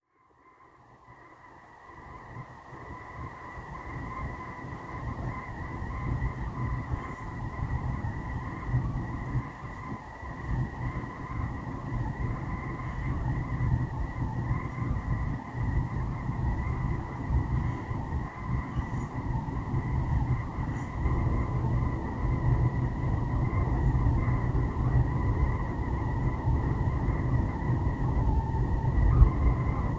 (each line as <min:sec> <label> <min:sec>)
0:00.2 Air ventillation whistling 0:29.9